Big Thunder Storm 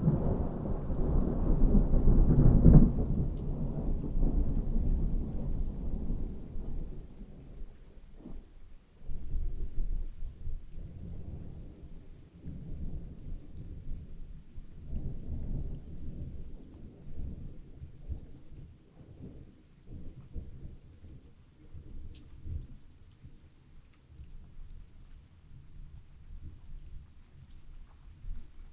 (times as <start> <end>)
0.0 7.2